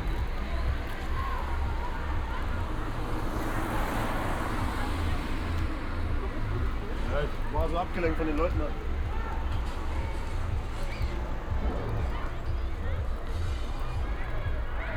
0.0s construction site 14.9s

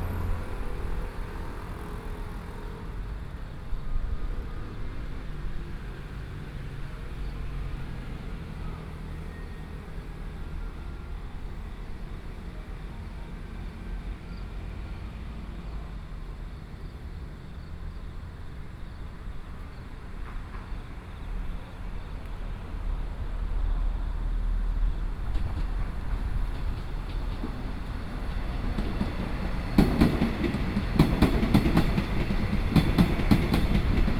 0.0s Traffic Sound 6.8s
0.0s Trains traveling through 34.1s
7.4s Traffic Sound 34.1s

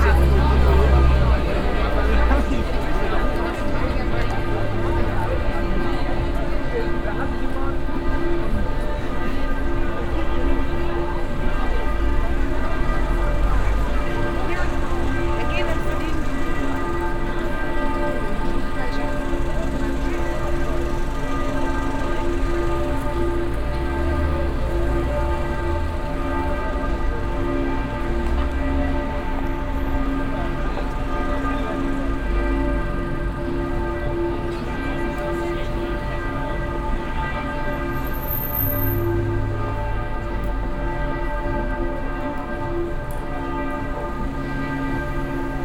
0.0s altstadtpublikum 45.6s

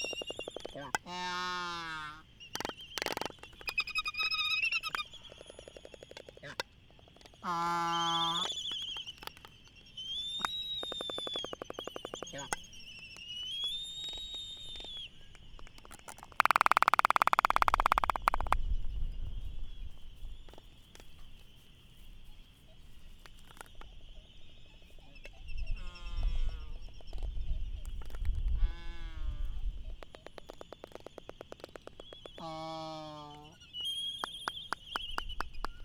0.0s voices 9.2s
10.4s voices 12.7s

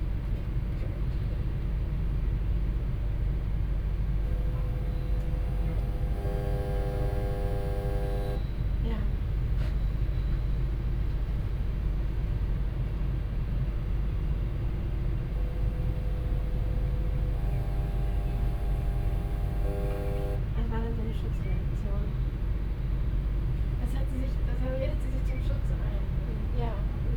0.0s a train passes at the opposite track 17.5s
3.7s strange periodic hum from a hidden control panel 12.6s
13.6s strange periodic hum from a hidden control panel 22.1s

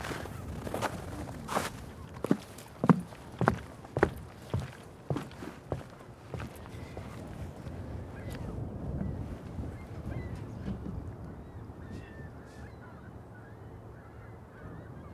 0.0s walk across melting ice and snow 7.9s
8.0s gulls 15.1s

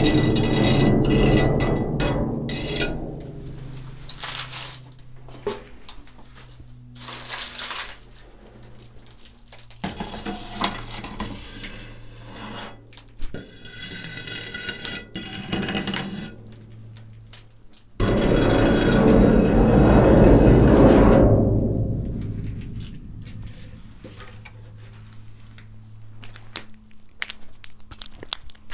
3.6s dry leaves 5.3s
6.2s dry leaves 9.7s

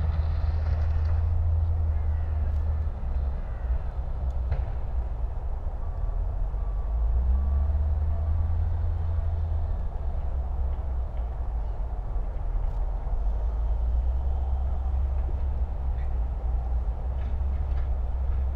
0.0s drone and hum of machines 18.5s
0.0s motorway 18.5s
0.0s south west wind 18.5s

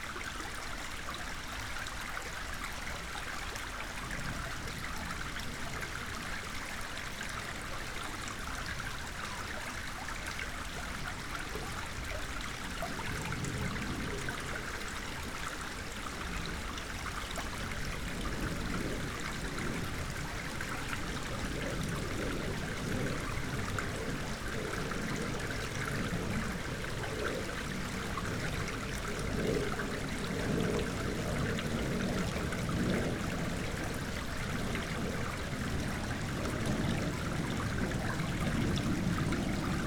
0.0s waterflow 39.8s
12.9s plane above 39.8s

